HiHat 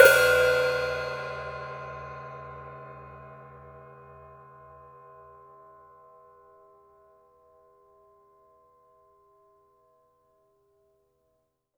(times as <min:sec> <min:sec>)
0:00.0 0:02.2